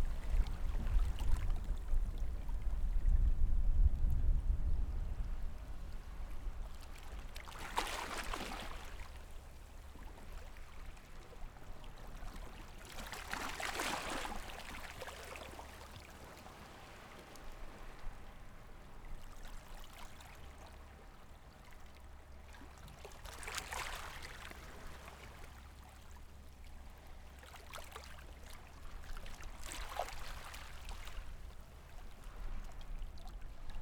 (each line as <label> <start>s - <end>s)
waves 0.0s - 33.8s